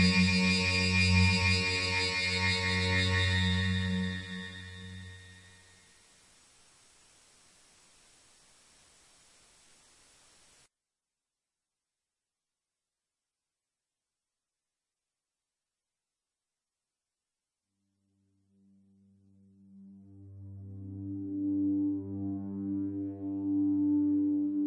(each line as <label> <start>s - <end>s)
synth 0.0s - 5.8s
synth 19.5s - 24.6s